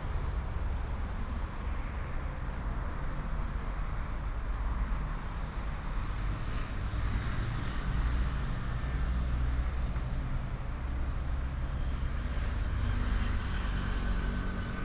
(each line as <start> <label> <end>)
0.0 the train runs through 14.8
0.0 traffic sound 14.8